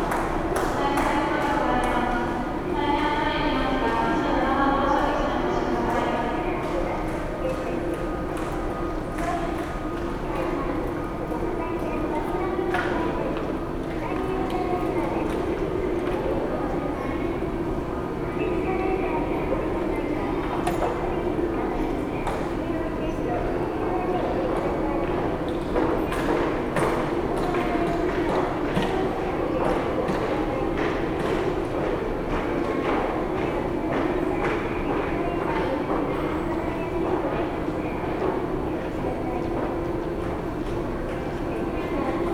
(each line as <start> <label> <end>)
0.0 passengers passing by 42.3
0.8 announcements 25.9